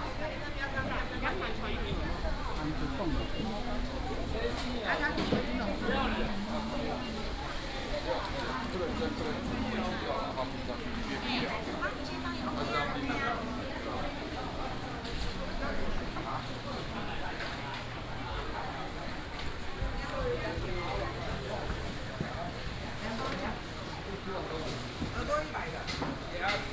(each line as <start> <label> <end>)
1.8 vendors peddling 16.5